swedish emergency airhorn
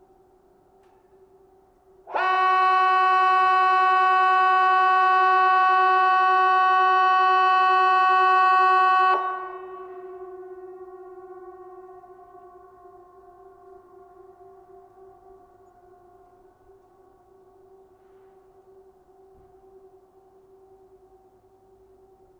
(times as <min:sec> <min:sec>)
0:02.1 0:12.4